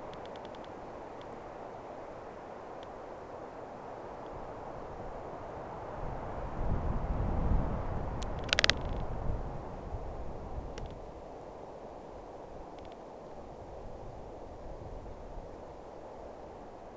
0.0s wind 16.9s
8.2s firs trunks are cracking up 8.9s

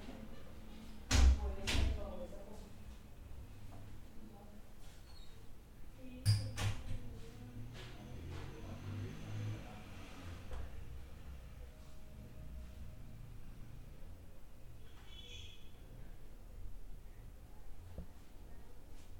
7.4s vehículos transitando 15.4s

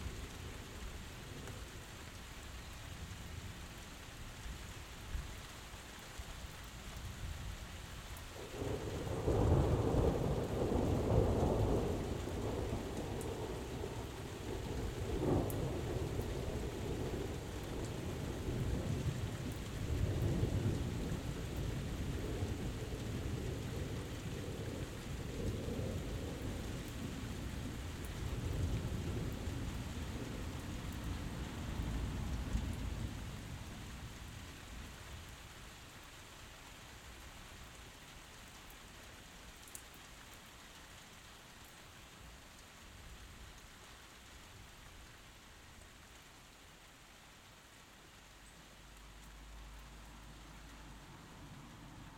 8.4s Thunderstorm 34.2s

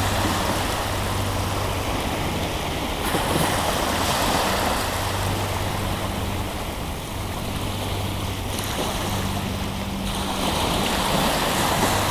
0.0s sea 12.1s

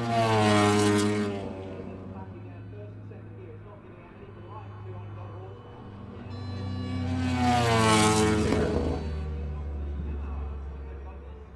4.7s 990s and two strokes 9.8s

